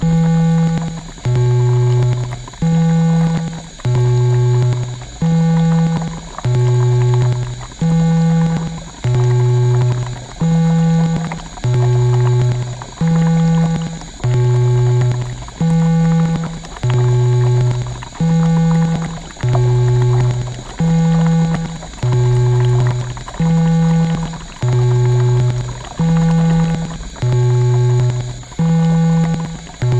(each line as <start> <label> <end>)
0.0 bubbles 29.9
0.0 electronic laboratory experiment 29.9